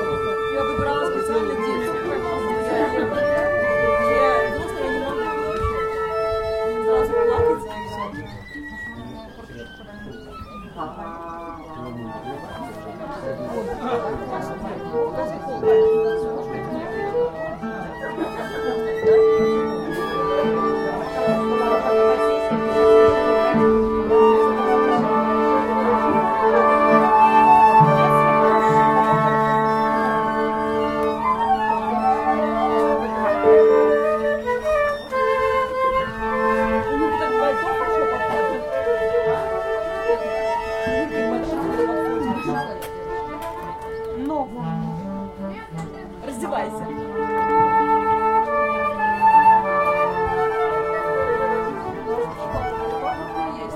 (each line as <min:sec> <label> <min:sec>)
0:00.0 Orchestra prepare to play 0:53.7